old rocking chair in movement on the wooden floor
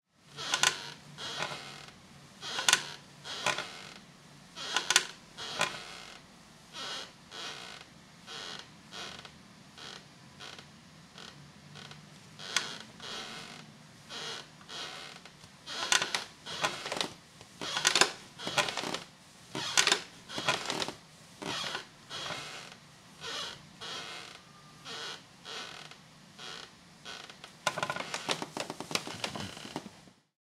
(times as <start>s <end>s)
0.4s 4.0s, 4.6s 6.2s, 11.8s 22.8s, 23.4s 30.1s